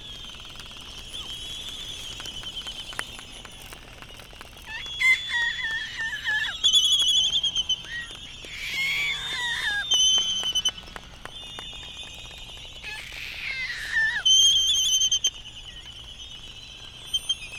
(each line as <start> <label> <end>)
0.0 laysan calls 17.5